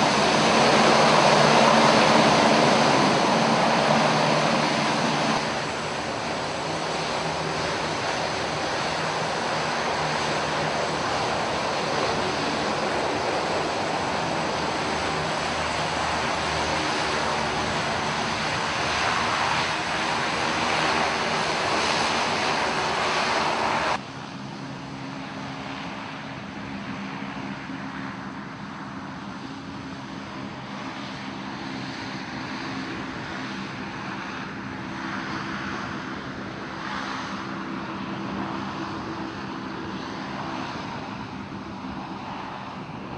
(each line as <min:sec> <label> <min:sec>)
0:00.0 LCAC Air Cusion Hovercraft 0:43.1